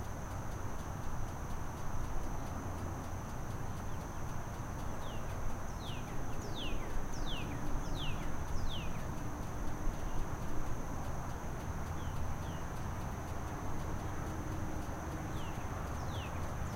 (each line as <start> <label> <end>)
0.0 insects 16.7
5.0 birds 9.1
15.3 birds 16.7